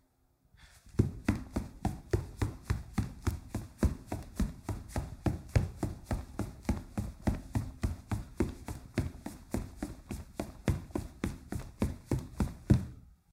0.6s Footsteps, running on wood floor with socks 13.1s

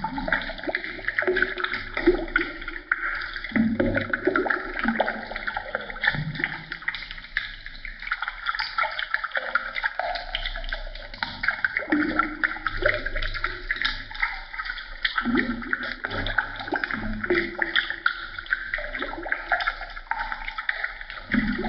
0.0s boiling liquid 21.6s

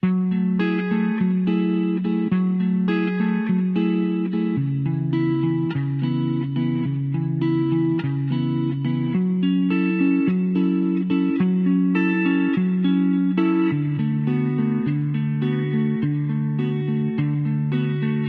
0.0s guitar 18.2s

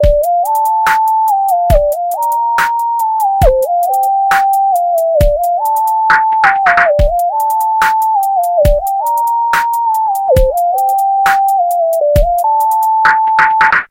0.0s Melody-loop 13.8s

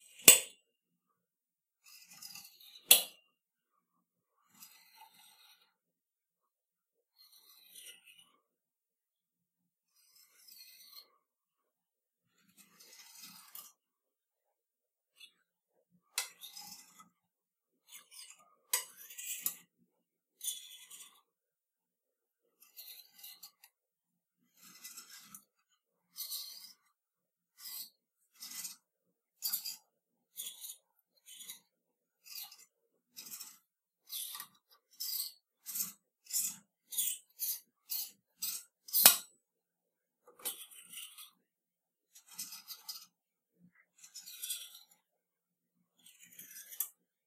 0.1s clothes hangers sliding across a metal rod 0.6s
1.9s clothes hangers sliding across a metal rod 3.2s
4.5s clothes hangers sliding across a metal rod 5.8s
12.4s clothes hangers sliding across a metal rod 13.8s
16.2s clothes hangers sliding across a metal rod 17.2s
22.6s clothes hangers sliding across a metal rod 23.6s
24.4s clothes hangers sliding across a metal rod 25.5s
27.6s clothes hangers sliding across a metal rod 28.8s
29.4s clothes hangers sliding across a metal rod 29.8s
30.4s clothes hangers sliding across a metal rod 39.3s
40.3s clothes hangers sliding across a metal rod 41.4s
42.1s clothes hangers sliding across a metal rod 43.2s
44.0s clothes hangers sliding across a metal rod 45.0s
46.0s clothes hangers sliding across a metal rod 47.0s

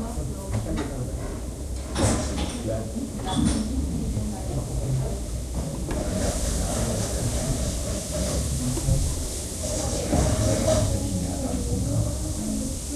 0.0s people talking in German and Thai 12.9s

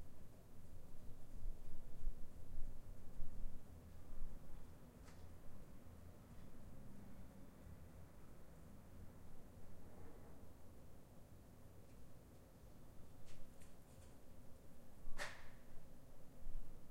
6.0s a few cars and trucks 10.7s

